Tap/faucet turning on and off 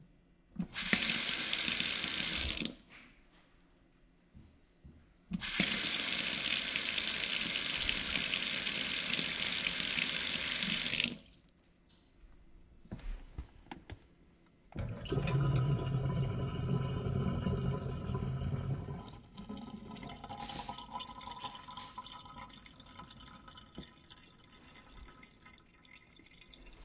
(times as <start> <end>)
0.6 2.8, 5.4 11.4, 14.8 24.2